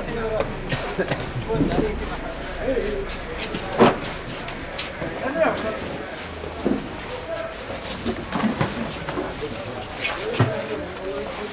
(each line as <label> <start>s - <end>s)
traffic tries to pass by 0.0s - 10.4s
Walking up the street 0.0s - 11.5s
overall street market with different kind of traders 0.0s - 11.5s